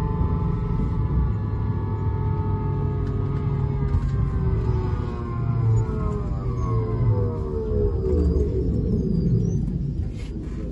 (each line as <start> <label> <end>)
0.0 sounds of passengers 10.7